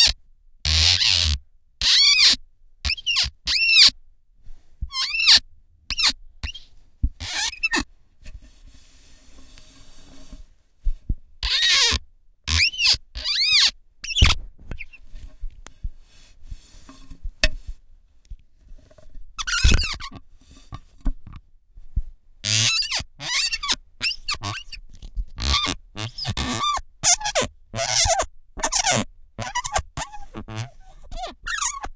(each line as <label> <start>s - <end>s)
Felt-tip pen on glass window 4.9s - 8.4s